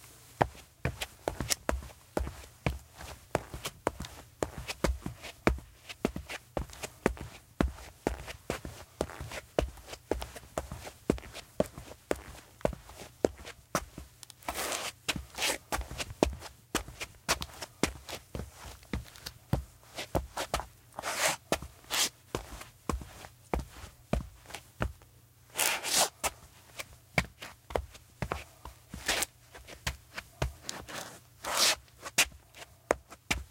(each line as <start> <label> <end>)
0.4 footstep concrete walking running scuff 25.0
25.6 footstep concrete walking running scuff 33.5